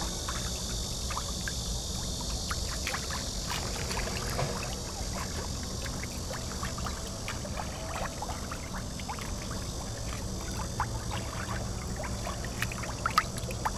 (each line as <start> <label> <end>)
0.0 Cicadas sound 13.7